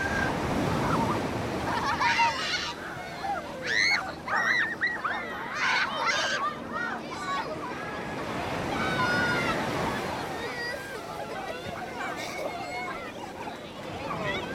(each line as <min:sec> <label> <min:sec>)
0:00.0 kids screaming and laughing 0:14.5
0:00.0 waves crashing onto beach 0:14.5